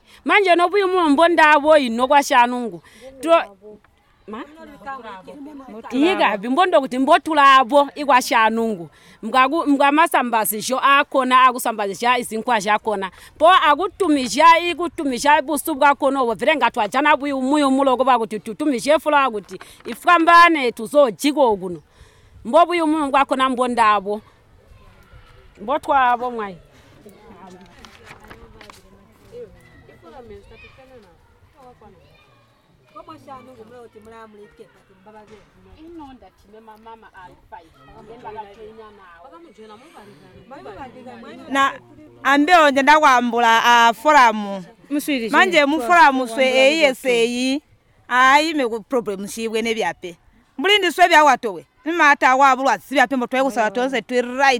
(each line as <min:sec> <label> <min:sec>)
0:00.0 women 0:54.5